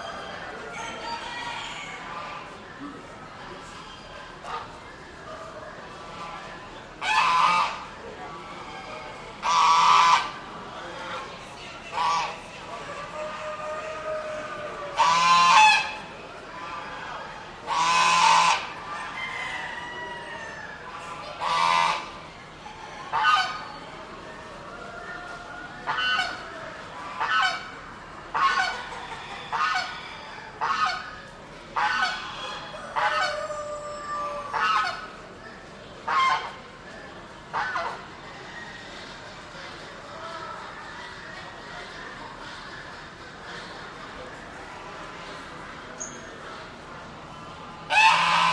Other poultry are heard in the background 0:00.0 - 0:48.5

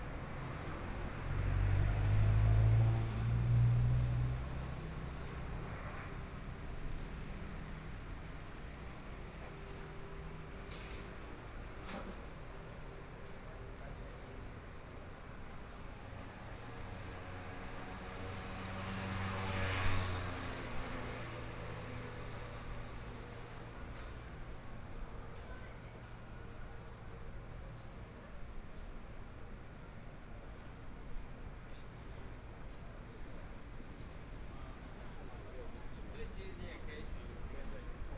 Traffic Sound 0:00.0 - 0:24.9
Various shops voices 0:31.7 - 0:38.1

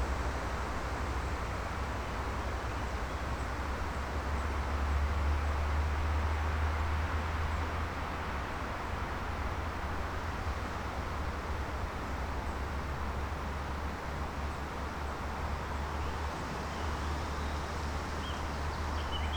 traffic noise 0:15.5 - 0:19.3

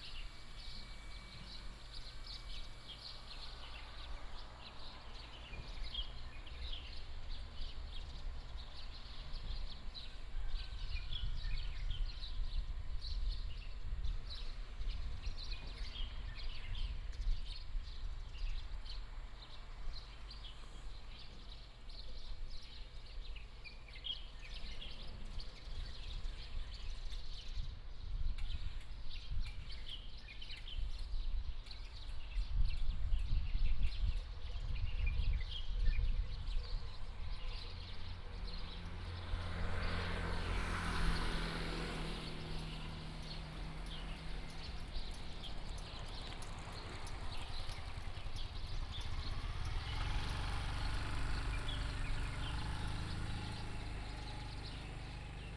birds sound 0:00.0 - 0:55.5
traffic sound 0:36.4 - 0:55.5

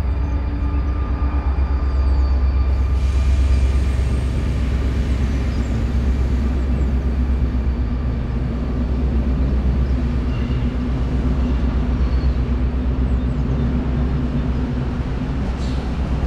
trains passing 0:00.0 - 0:16.2

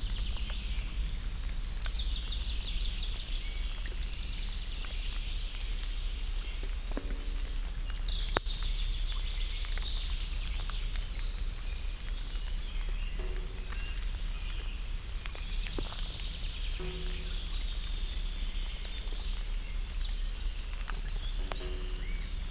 raindrop hits an information post 0:00.0 - 0:22.5
thick raindrops splash on the water surface 0:00.0 - 0:22.5

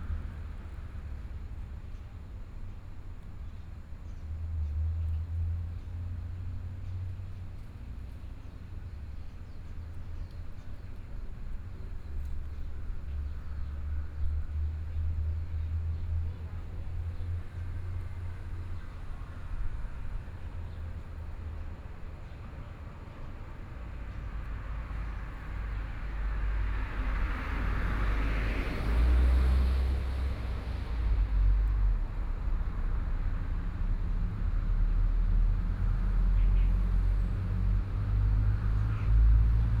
Traffic Sound 0:07.8 - 0:39.8

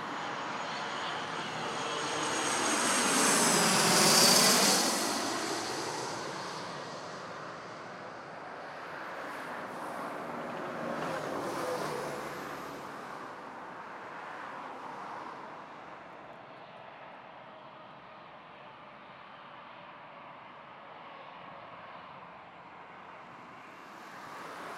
cars 0:00.0 - 0:16.4

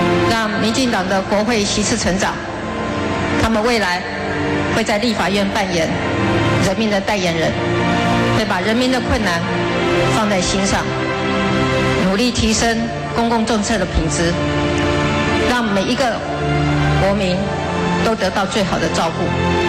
Concession speech 0:00.0 - 0:19.6

